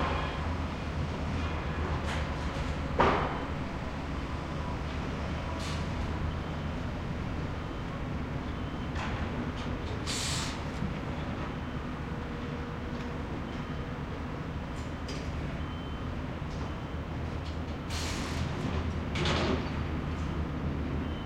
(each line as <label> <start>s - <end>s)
Construction Site Sound 0.0s - 21.2s